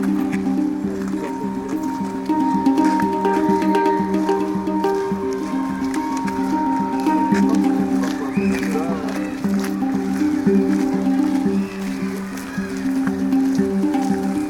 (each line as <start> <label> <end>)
0.0 hand drum 14.4